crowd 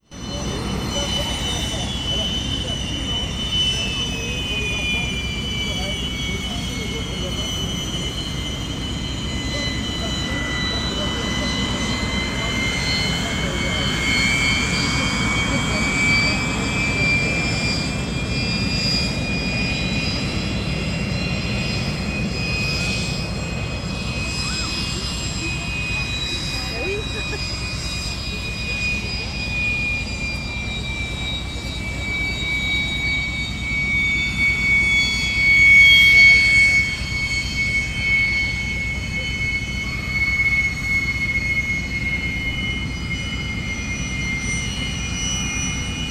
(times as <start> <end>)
22.8 32.0